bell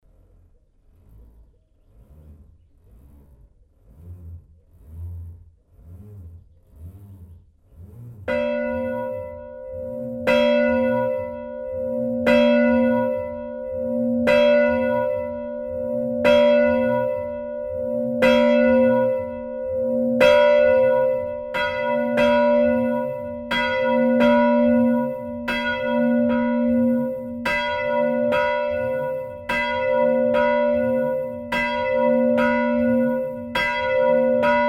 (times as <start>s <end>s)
8.3s 34.6s